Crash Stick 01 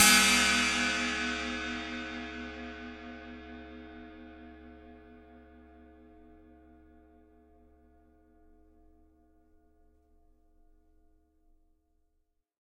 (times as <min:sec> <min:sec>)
0:00.0 0:01.1